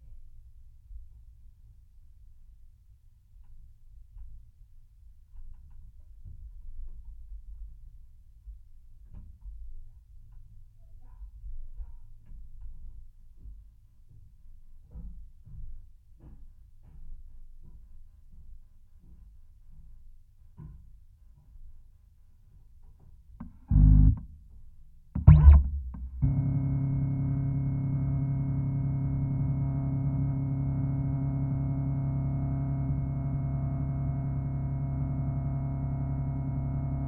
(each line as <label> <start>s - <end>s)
Scanning a pair of JrF contact mics in an Epson V600 scanner 23.7s - 24.2s
Scanning a pair of JrF contact mics in an Epson V600 scanner 25.2s - 37.0s